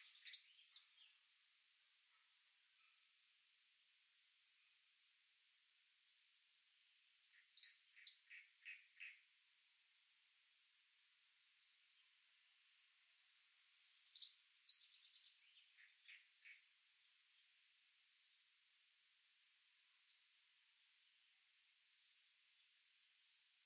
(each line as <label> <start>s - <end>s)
Birds 0.0s - 1.3s
Birds 1.9s - 4.8s
Birds 6.6s - 9.4s
Birds 11.5s - 17.7s
Birds 19.4s - 20.5s